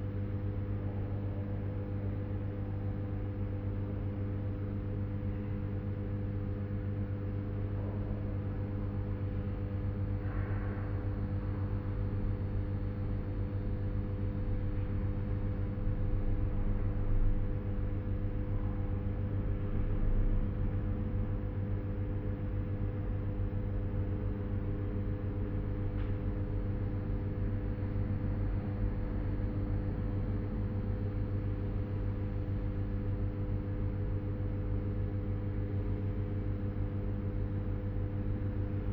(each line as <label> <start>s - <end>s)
humming of the electricity 20.4s - 38.9s